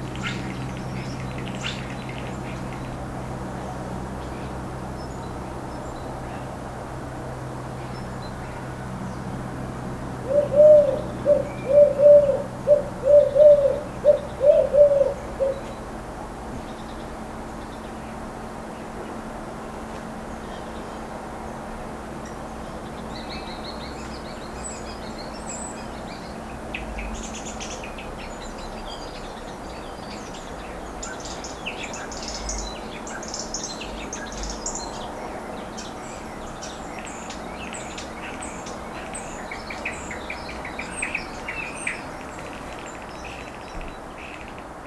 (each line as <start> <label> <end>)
10.2 Bird ambiance 16.0